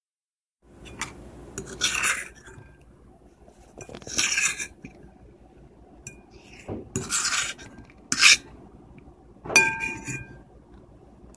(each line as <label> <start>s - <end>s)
thin metal fork scraping a ceramic plate 0.9s - 2.7s
thin metal fork scraping a ceramic plate 3.7s - 4.9s
thin metal fork scraping a ceramic plate 6.1s - 8.5s
fork hitting the side of the plate 9.5s - 10.4s
thin metal fork scraping a ceramic plate 9.6s - 10.4s